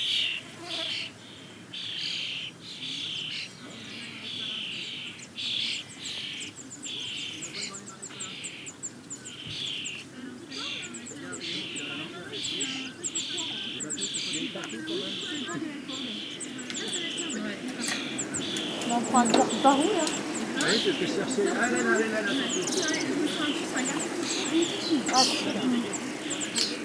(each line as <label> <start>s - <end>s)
Common Starling colony, singing 0.0s - 26.8s
wind in the grass 0.0s - 26.8s
tourists cycling 2.6s - 26.8s